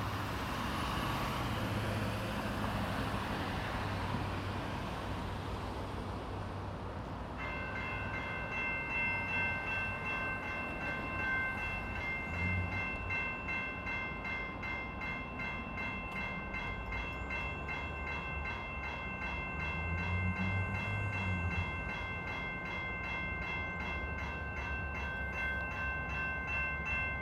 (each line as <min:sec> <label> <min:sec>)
0:00.0 train 0:27.2